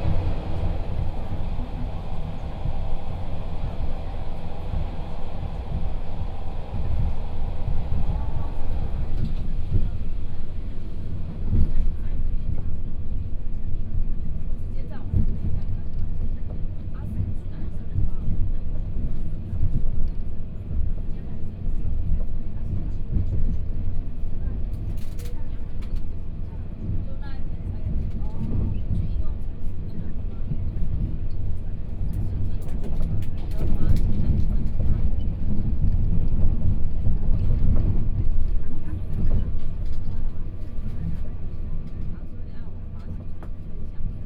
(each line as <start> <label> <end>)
0.0 Interior of the train 44.2